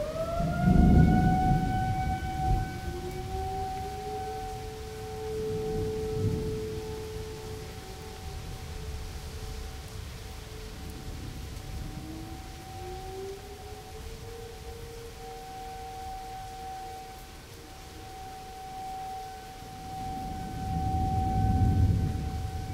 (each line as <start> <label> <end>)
0.0 Thunder 9.1
0.0 rain 22.7
0.0 tornado siren 22.7
19.8 Thunder 22.7